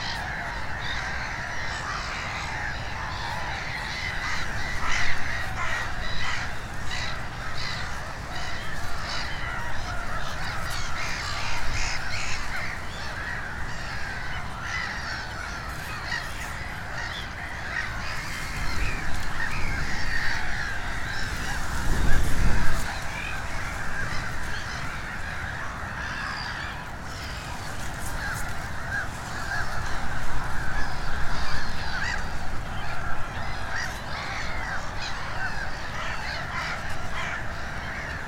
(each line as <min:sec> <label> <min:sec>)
0:00.0 gulls colony 0:38.2